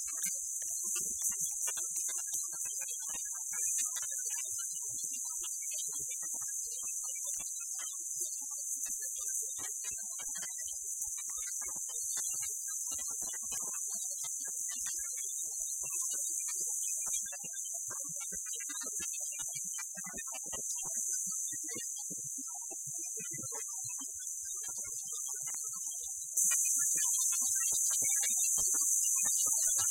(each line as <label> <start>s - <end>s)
Scanning channels on a household radio 25.5s - 29.9s